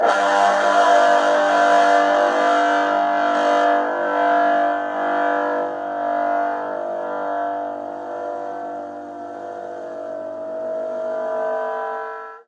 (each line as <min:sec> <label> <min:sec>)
0:00.0 Electric guitar 0:12.1